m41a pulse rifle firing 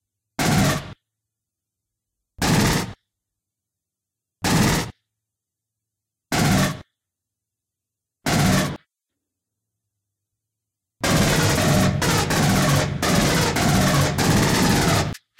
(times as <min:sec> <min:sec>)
0:00.4 0:01.0, 0:02.4 0:03.0, 0:04.4 0:05.0, 0:06.3 0:06.8, 0:08.3 0:08.8, 0:11.0 0:15.3